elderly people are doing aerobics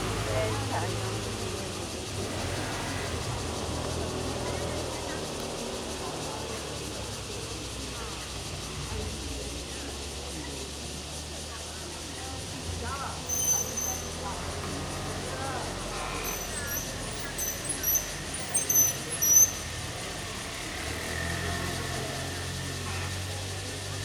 3.1s 19.3s

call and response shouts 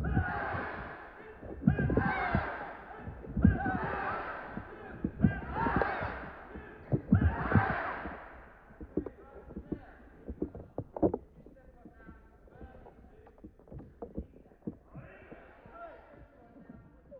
0.0s 10.5s

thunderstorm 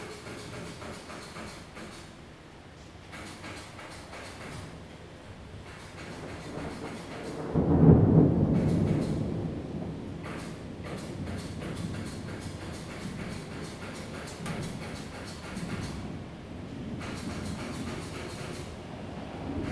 5.7s 19.7s

